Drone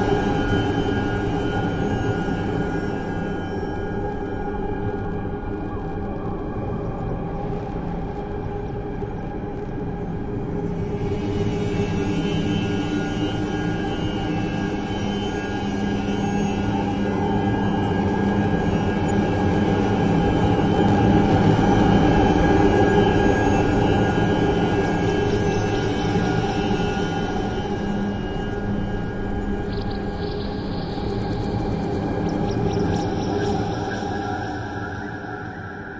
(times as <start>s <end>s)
10.8s 35.9s